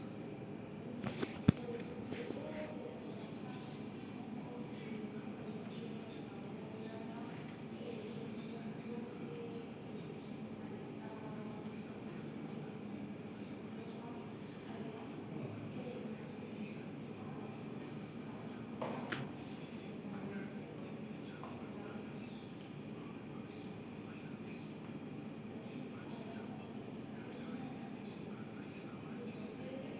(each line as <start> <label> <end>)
0.0 sounds of a waiting room 29.9